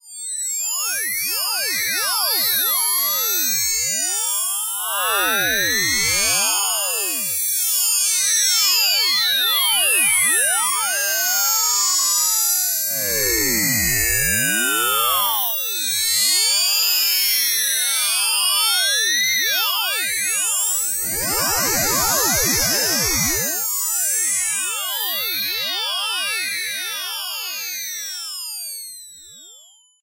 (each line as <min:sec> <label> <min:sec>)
0:12.7 heterodyne whine 0:15.7